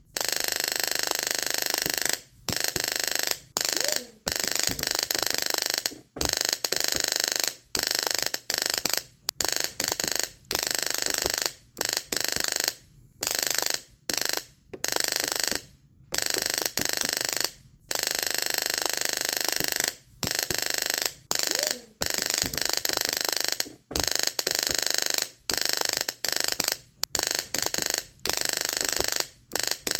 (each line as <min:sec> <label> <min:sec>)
0:00.2 tesla coil arcing and sparking in bursts 0:15.6
0:16.2 tesla coil arcing and sparking in bursts 0:29.9